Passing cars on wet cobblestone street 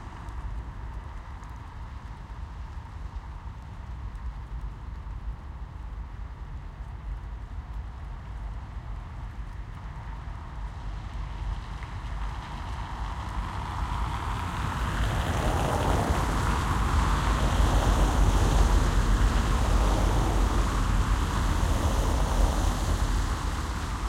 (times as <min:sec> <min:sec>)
0:10.0 0:24.0